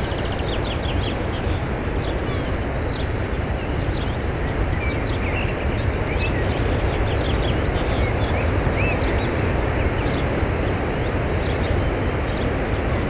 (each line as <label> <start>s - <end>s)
bird songs 0.0s - 10.4s